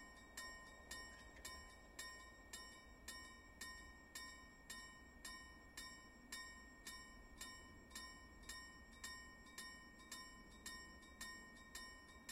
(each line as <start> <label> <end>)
0.0 track crossing bell 12.3